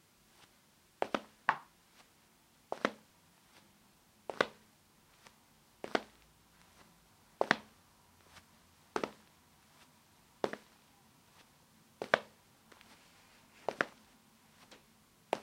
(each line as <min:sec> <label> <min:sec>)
0:00.4 Hard-soled sneakers on a tile floor with a slow pace 0:02.1
0:02.7 Hard-soled sneakers on a tile floor with a slow pace 0:03.7
0:04.3 Hard-soled sneakers on a tile floor with a slow pace 0:15.4